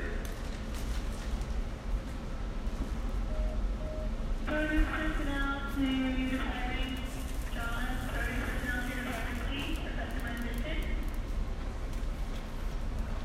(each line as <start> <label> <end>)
3.2 cashier scanning beeps 4.2
3.4 announcement on PA 11.1